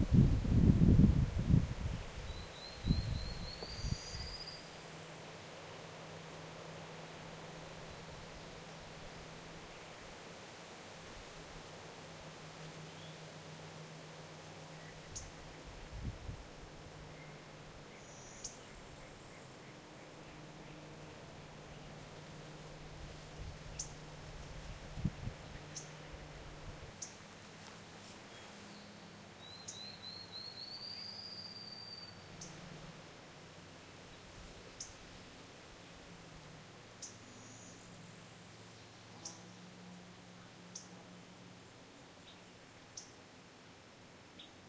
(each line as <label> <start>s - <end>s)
rush of wind 0.0s - 4.5s
insects 0.1s - 15.7s
birds 2.2s - 4.8s
rush of wind 14.9s - 17.9s
insects 16.8s - 24.8s
birds 17.0s - 24.6s
rush of wind 22.6s - 27.0s
insects 25.4s - 44.6s